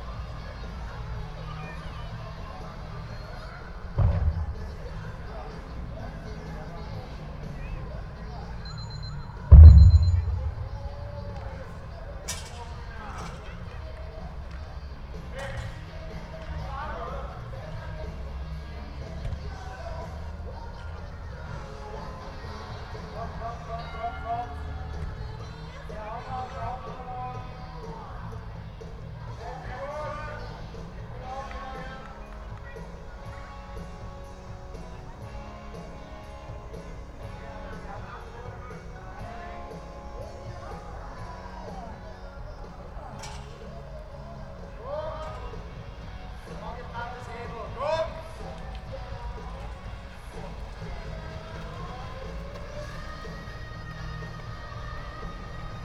Keep fit class for adults resounding between 2 concrete walls 0.0 - 55.8
heavyrock 9.4 - 13.0

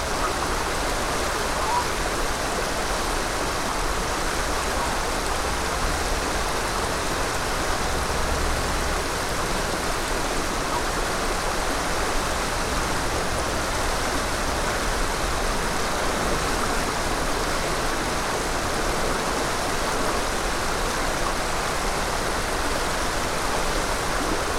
Rushing River 0.0 - 24.5
geese calling 1.6 - 2.0

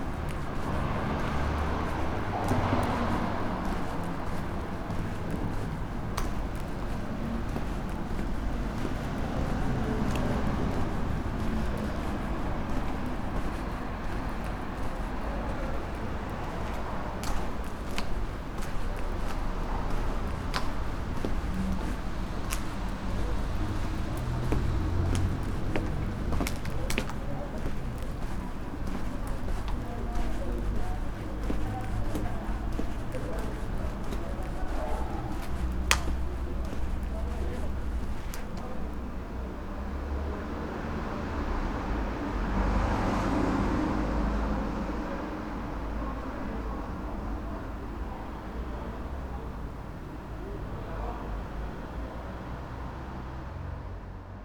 walking 0.0 - 39.3

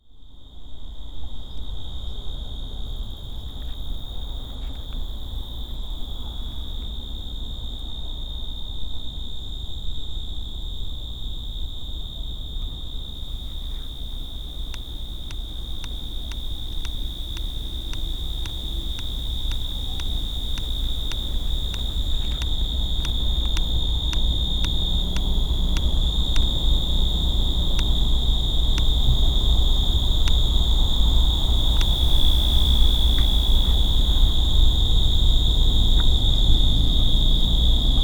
crickets 0.0 - 38.0
Urban noise 12.5 - 38.0

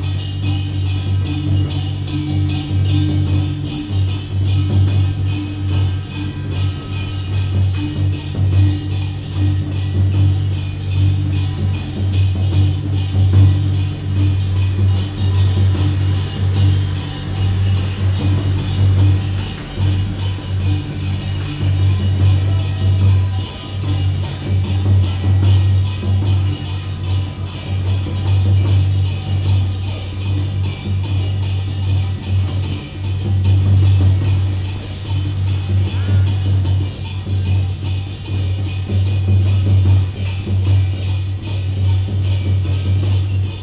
Firecrackers sound 13.4 - 25.2

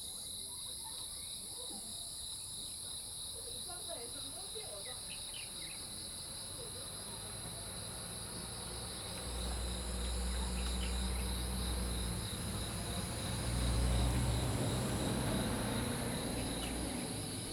Insect sounds 0.0 - 17.5
birds 10.0 - 12.7
birds 14.8 - 17.5

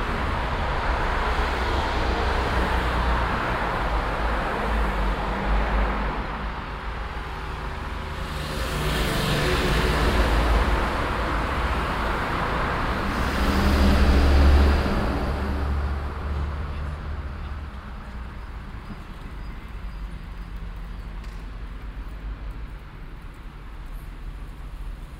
traffic 0.0 - 25.1

